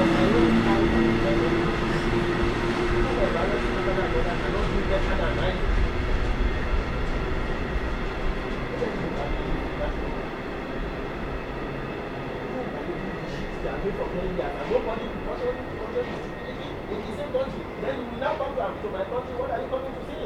freight train starts 0.0 - 20.2
Man talking with cellular phone 13.8 - 20.2

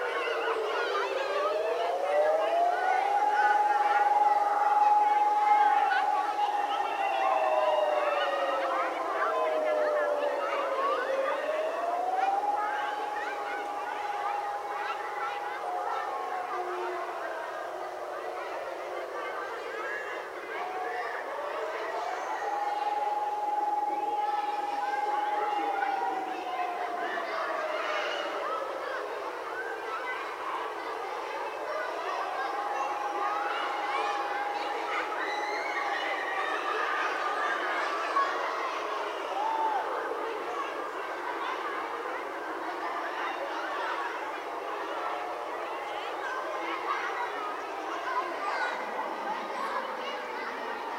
Sierene auf Schuldach und andere im Hintergrund 1.3 - 18.7
Sierene auf Schuldach und andere im Hintergrund 20.7 - 27.0

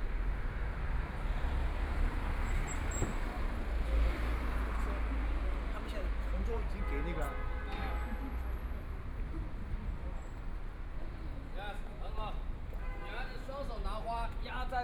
Traffic Sound 0.0 - 14.8

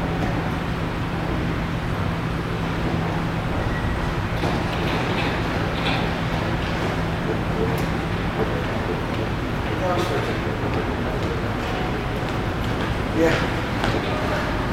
other mechanical noise 0.0 - 14.7

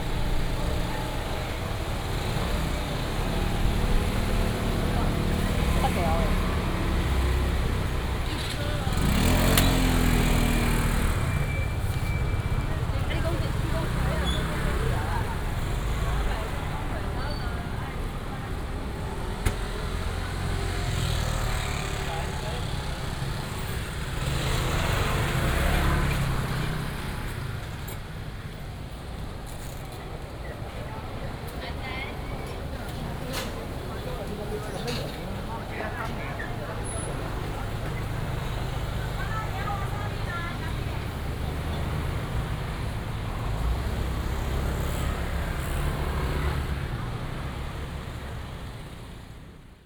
Walking in traditional market blocks 0.0 - 49.8
motorcycle 0.0 - 49.8

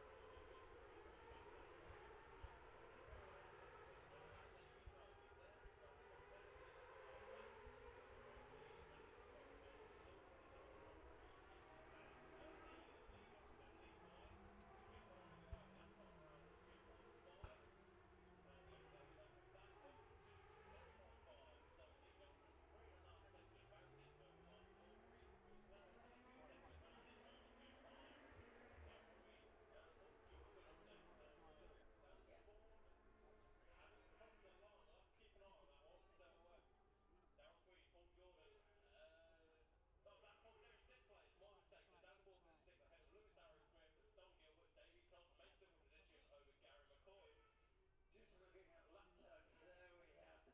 road racing 0.0 - 34.8

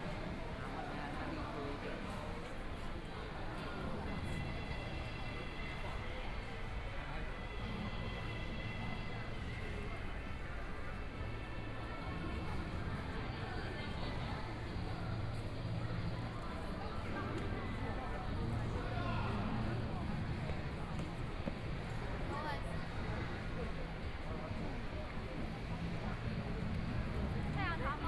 Various shops voices 0.0 - 28.0
Walking through the bazaar 0.0 - 28.0

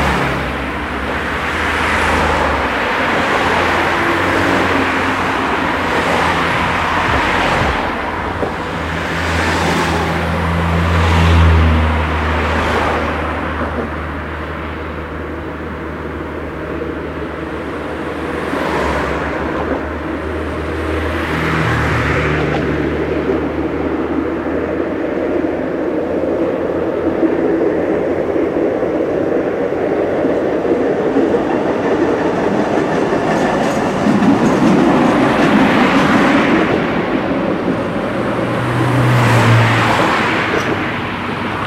cars crossing a bridge 0.0 - 41.6
tram passing by in opposite direction 0.0 - 41.6

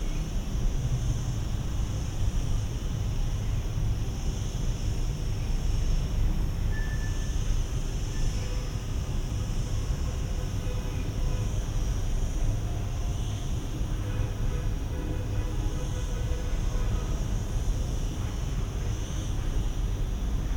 crickets from the rocks nearby 0.0 - 20.5
wind 0.0 - 20.5

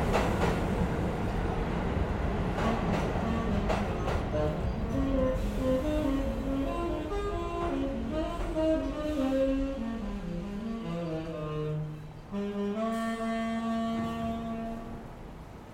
Q train arriving 0.0 - 15.7
Subway musician 0.0 - 15.7

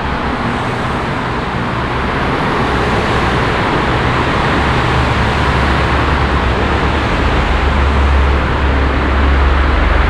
fahrzeugresonanzen in autotunnel 0.0 - 10.0

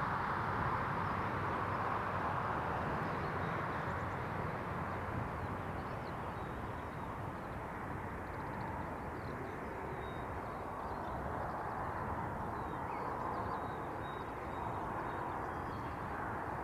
traffic noise 0.0 - 16.6
wind 0.0 - 16.6

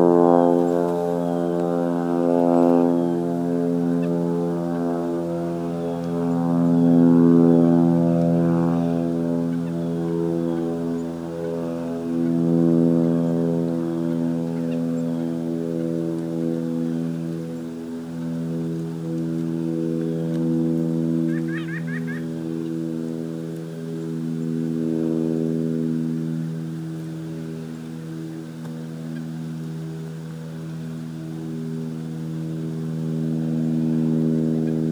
Birds 0.0 - 34.9
Plane 0.0 - 34.9

